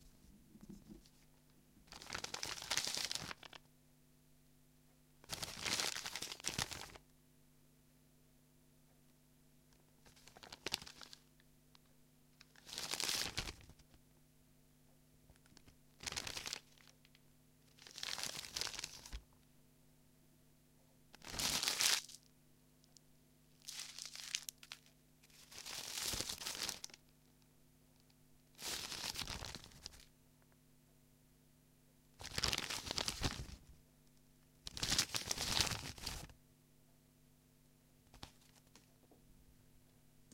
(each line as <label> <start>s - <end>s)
Unfolding and crumbling paper 1.9s - 3.6s
Unfolding and crumbling paper 5.3s - 7.0s
Unfolding and crumbling paper 10.1s - 11.3s
Unfolding and crumbling paper 12.4s - 13.8s
Unfolding and crumbling paper 15.5s - 17.0s
Unfolding and crumbling paper 17.7s - 19.2s
Unfolding and crumbling paper 21.2s - 22.2s
Unfolding and crumbling paper 23.6s - 27.0s
Unfolding and crumbling paper 28.6s - 30.1s
Unfolding and crumbling paper 32.2s - 33.6s
Unfolding and crumbling paper 34.7s - 36.3s